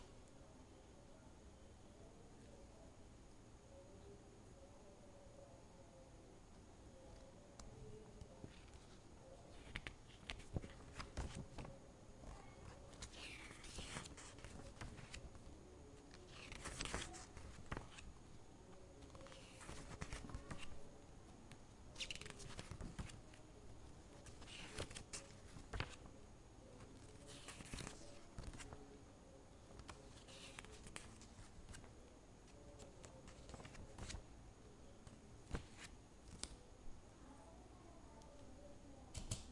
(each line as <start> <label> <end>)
7.1 Turning pages of a book 20.9
21.5 Turning pages of a book 26.1
26.7 Turning pages of a book 29.0
29.6 Turning pages of a book 34.3
35.0 Turning pages of a book 36.7